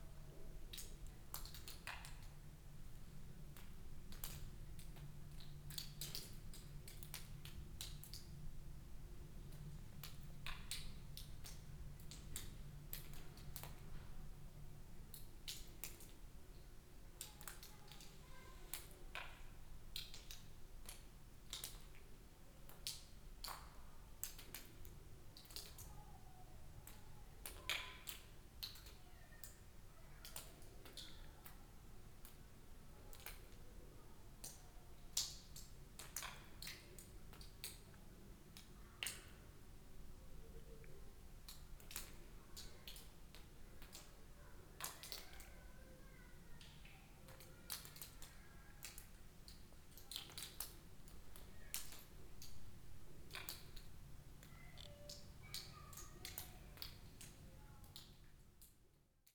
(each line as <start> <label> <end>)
0.7 water drops sipping from the ceiling 2.3
2.9 water drops sipping from the ceiling 8.4
9.4 water drops sipping from the ceiling 14.1
15.1 water drops sipping from the ceiling 33.6
34.3 water drops sipping from the ceiling 59.3